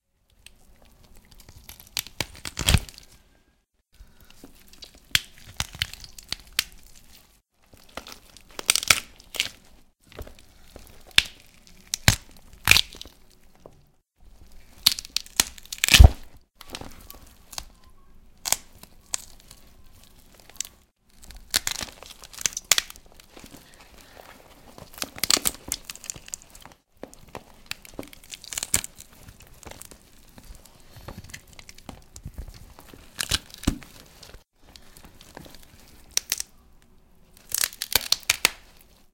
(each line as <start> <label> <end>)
1.4 Breaking some bones (rib) 3.2
7.7 Breaking some bones (rib) 13.2
14.6 Breaking some bones (rib) 17.7
18.4 Breaking some bones (rib) 19.6
20.2 Breaking some bones (rib) 30.1
30.9 Breaking some bones (rib) 36.5
37.4 Breaking some bones (rib) 38.8